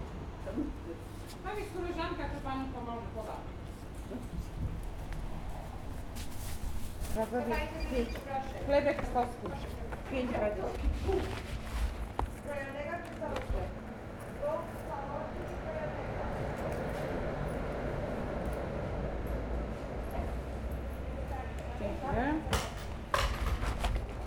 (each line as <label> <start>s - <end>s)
old lady talking to the sales person 0.4s - 4.5s
old lady talking to the sales person 7.1s - 11.5s
old lady talking to the sales person 12.3s - 16.8s
old lady talking to the sales person 21.1s - 22.6s